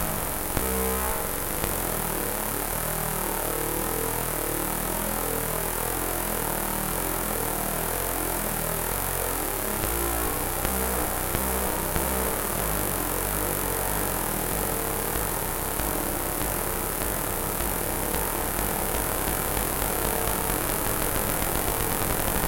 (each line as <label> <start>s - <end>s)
Analog Synth 0.0s - 22.4s